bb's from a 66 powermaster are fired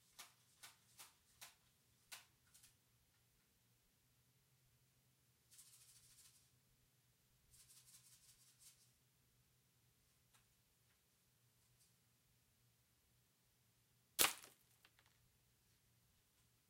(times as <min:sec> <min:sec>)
0:14.2 0:14.6